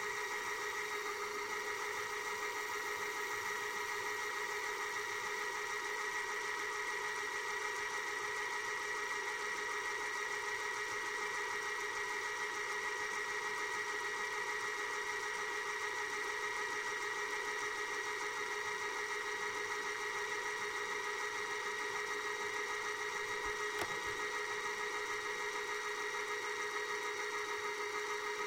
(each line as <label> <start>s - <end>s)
vcr fastforward 23.1s - 24.6s
rewind 23.2s - 24.6s